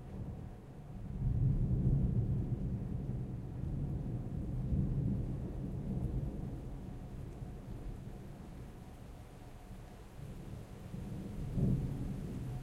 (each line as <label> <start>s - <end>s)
medium rain 0.0s - 12.6s
winds 0.0s - 12.6s
thunder 1.0s - 8.2s
thunder 10.3s - 12.6s